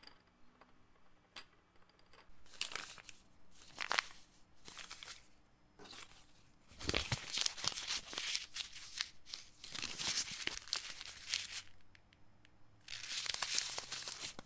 0.1s pencils being rolled on a table 12.0s
2.5s Paper being shuffled around 11.7s
12.8s pencils being rolled on a table 14.4s
12.9s Paper being shuffled around 14.4s

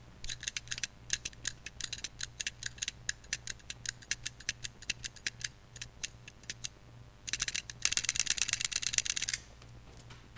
0.2s shaking a pedometer 9.5s

